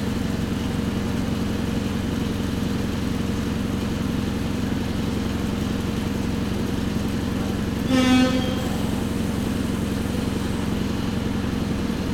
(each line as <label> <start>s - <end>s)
A train is coming 0.0s - 12.1s
rain falling 4.5s - 12.1s
announcements are loud 6.0s - 12.0s